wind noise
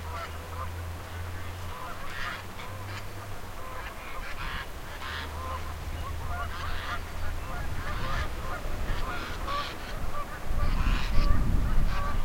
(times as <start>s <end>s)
2.8s 12.2s